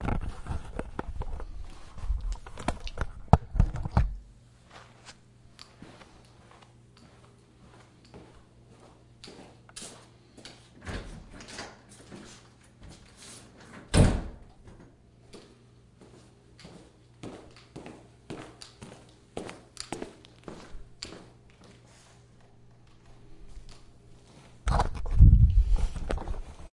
Footsteps wearing sneakers on tile 4.6 - 10.6
Footsteps wearing sneakers on tile 15.3 - 24.6

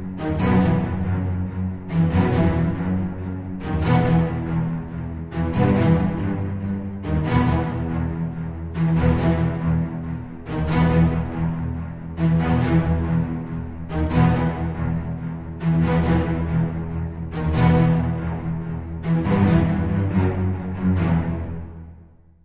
viola 0.0 - 22.3

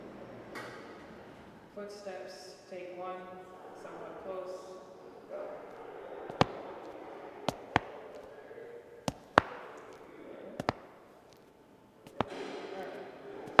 footsteps 5.3 - 13.6

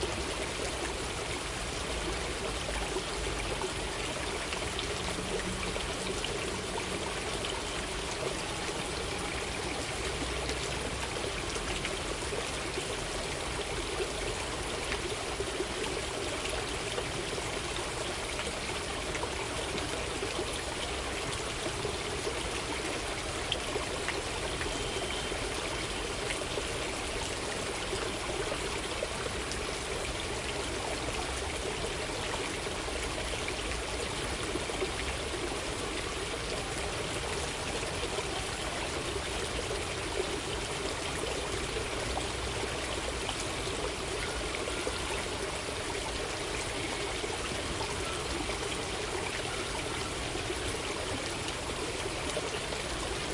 Water 0.0 - 53.3

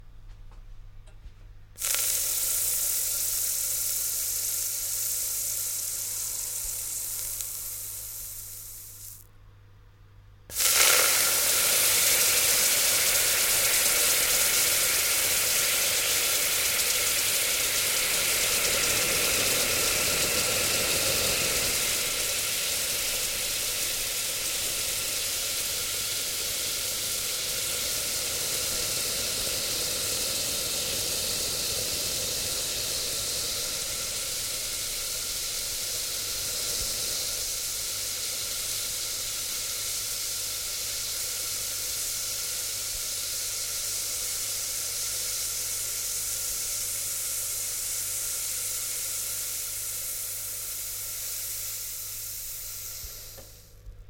Water evaporating once dropped onto a hot pan 10.5 - 20.8

